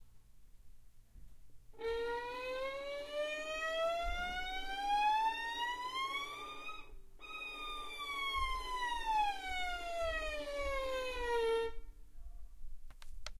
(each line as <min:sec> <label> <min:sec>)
0:06.2 standard wood violin 0:11.8